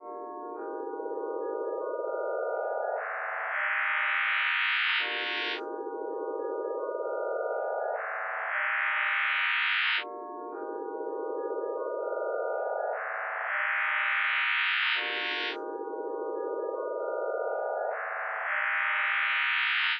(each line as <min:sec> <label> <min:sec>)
0:00.1 melodic sequences and events created with graphs 0:19.9